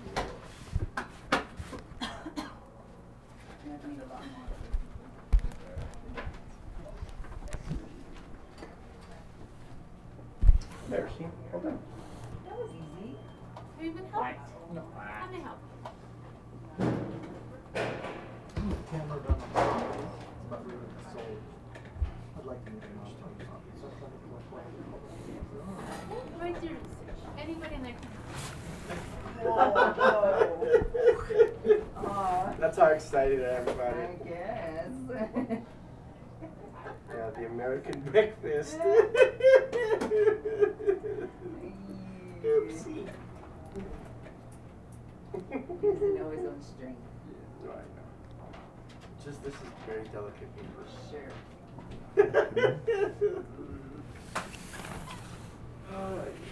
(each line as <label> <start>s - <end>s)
conversations from mr. vaughn's coworkers 2.8s - 56.5s
loud laughter 52.2s - 53.6s